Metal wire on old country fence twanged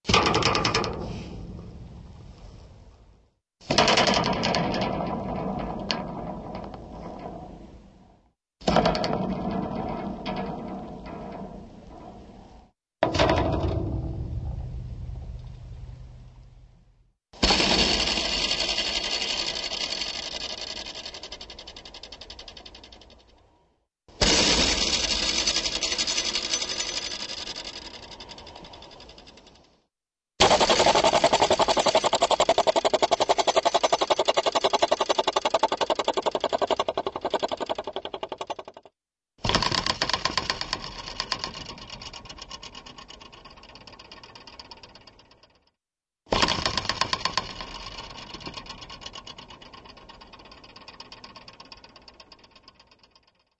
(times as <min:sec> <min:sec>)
0:00.0 0:01.8, 0:03.6 0:07.8, 0:08.6 0:15.3, 0:30.4 0:38.8